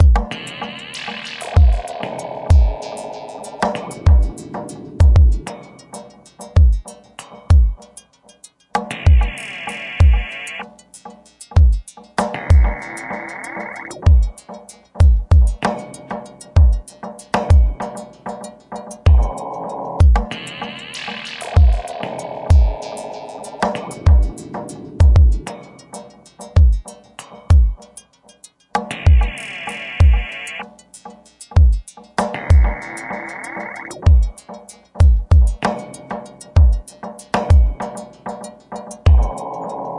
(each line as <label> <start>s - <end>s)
Modular drums and resonators 0.0s - 7.9s
Modular drums and resonators 8.8s - 10.8s
Modular drums and resonators 11.5s - 27.9s
Modular drums and resonators 28.8s - 30.8s
Modular drums and resonators 31.5s - 39.9s